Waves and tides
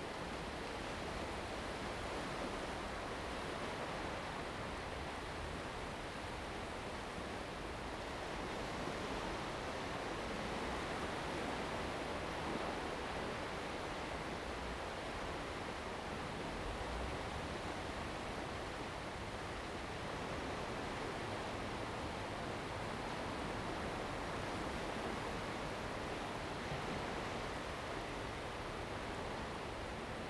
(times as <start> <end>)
8.0 30.2